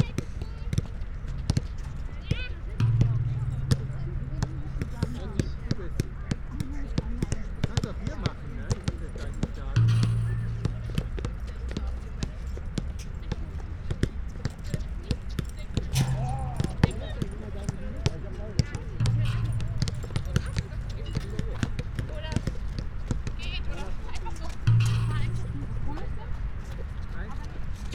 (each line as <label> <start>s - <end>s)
kids and parents playing basket ball 0.0s - 27.9s
ball hitting basket and bars 0.1s - 27.3s